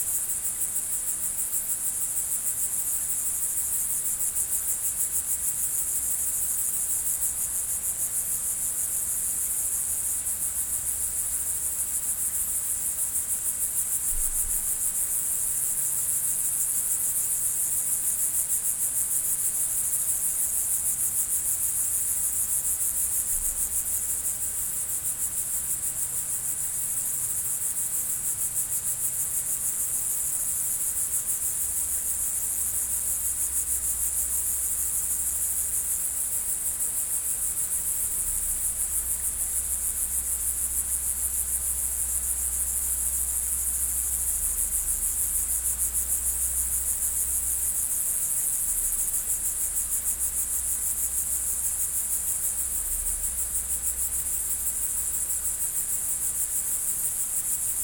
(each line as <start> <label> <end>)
0.0 Grasshoppers 57.8